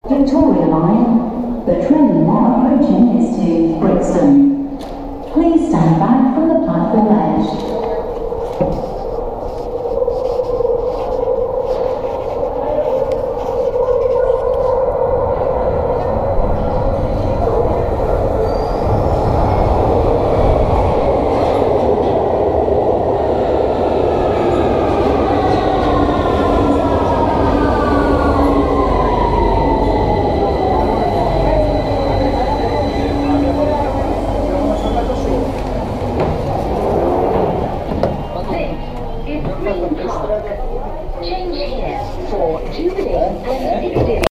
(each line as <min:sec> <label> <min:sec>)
0:00.0 announcement 0:08.1
0:01.0 Train Approaching 0:43.8
0:25.1 announcement 0:40.7